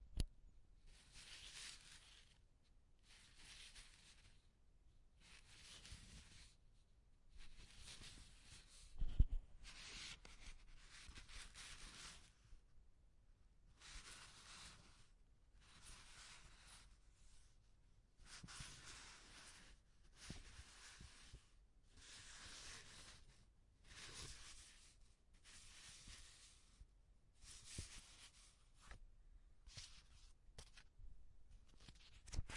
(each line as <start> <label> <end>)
1.0 flipping through sheets of paper 2.4
5.2 flipping through sheets of paper 6.6
7.4 flipping through sheets of paper 12.3
22.0 Sheets of paper sliding on each other 26.7
22.0 flipping through sheets of paper 26.7
27.4 flipping through sheets of paper 29.0
29.6 flipping through sheets of paper 32.5